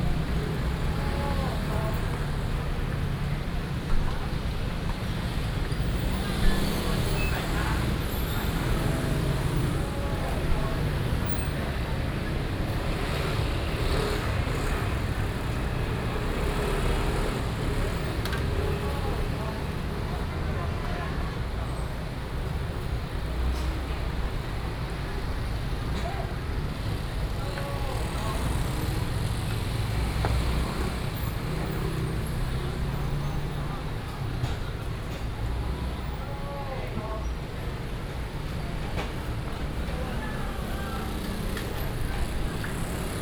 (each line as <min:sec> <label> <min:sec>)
0:00.0 traffic sound 0:43.2